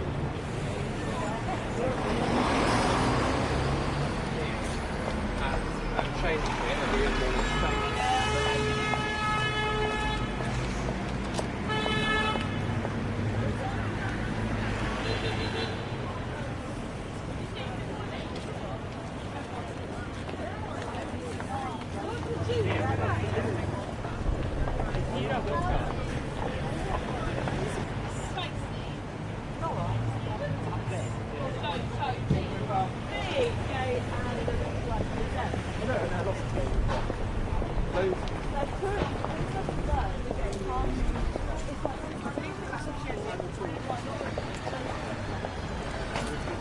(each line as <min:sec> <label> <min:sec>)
0:00.0 Bus 0:46.6
0:00.0 Cars 0:46.6
0:00.0 Voices 0:46.6
0:34.9 footsteps 0:46.6